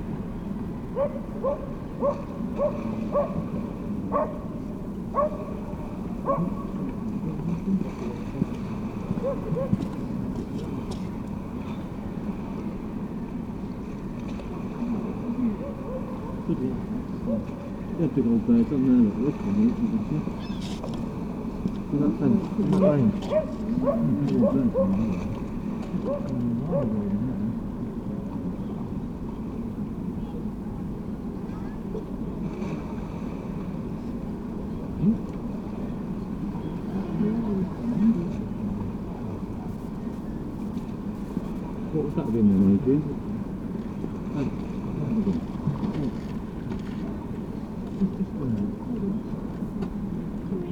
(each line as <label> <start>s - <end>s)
herring gull 9.0s - 9.9s
voices 14.4s - 32.2s
herring gull 19.4s - 20.9s
herring gull 22.8s - 25.4s
voices 34.6s - 50.7s